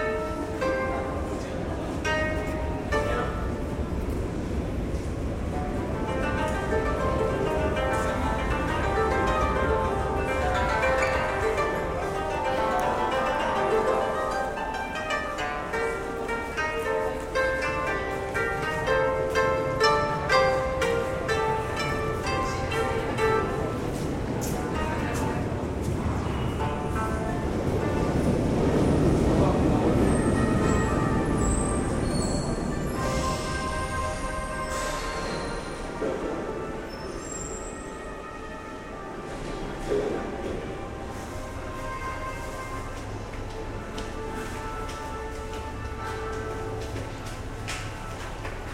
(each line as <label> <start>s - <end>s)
koto player 0.0s - 48.7s
surrounding casual sounds 0.0s - 48.7s